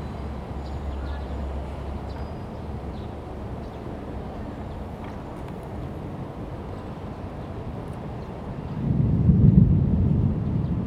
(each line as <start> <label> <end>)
8.8 Thunder 10.8